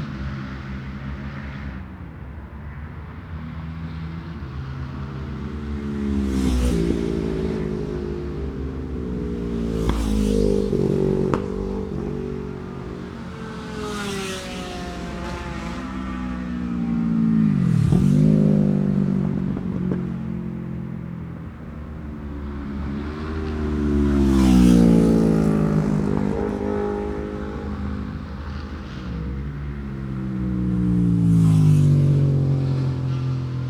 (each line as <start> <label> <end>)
0.0 Road Races 33.6